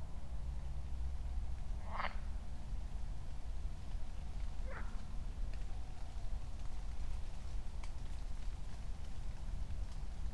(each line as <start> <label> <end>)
1.8 frogs 2.3